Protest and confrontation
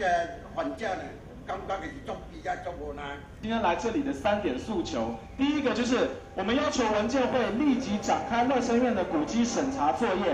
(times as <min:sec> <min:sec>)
0:03.2 0:10.3